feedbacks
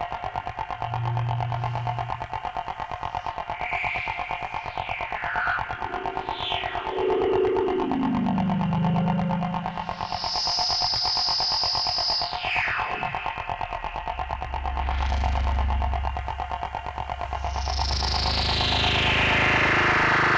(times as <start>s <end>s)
0.4s 11.3s